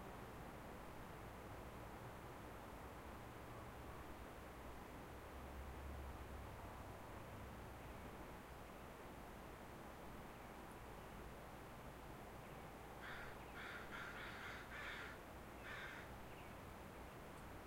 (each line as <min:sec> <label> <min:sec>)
0:12.3 Songbirds 0:17.6
0:13.0 Crows 0:16.1